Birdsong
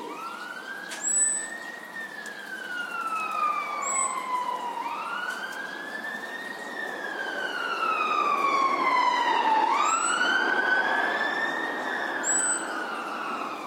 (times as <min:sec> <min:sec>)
0:00.0 0:06.8, 0:12.1 0:13.5